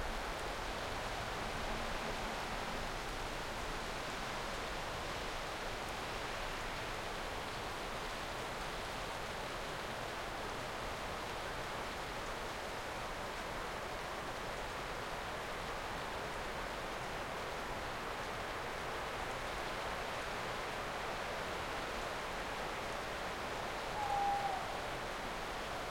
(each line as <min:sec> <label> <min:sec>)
0:23.8 tawny owl 0:25.0